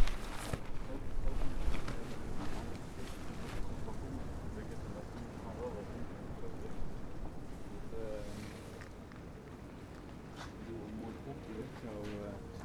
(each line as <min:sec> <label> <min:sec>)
0:00.0 motorbike cover flapping in the wind 0:05.4